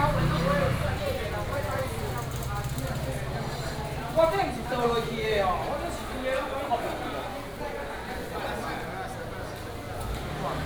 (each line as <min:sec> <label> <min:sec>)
0:00.0 Traffic sound 0:06.0